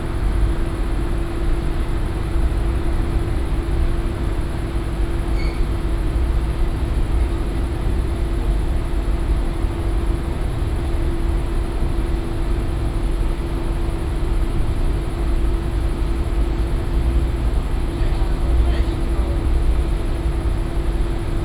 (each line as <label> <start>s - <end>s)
hum of commercial washing machines 0.0s - 21.4s
employees talking 17.9s - 19.6s